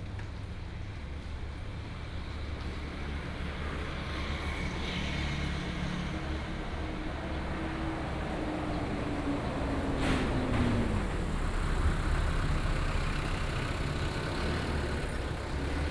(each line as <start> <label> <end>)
0.1 Traffic sound 15.9